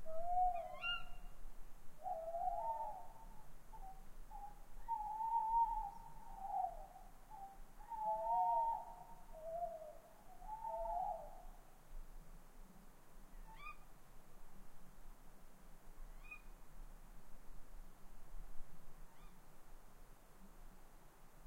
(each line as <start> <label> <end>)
0.0 wind noise in the trees 21.4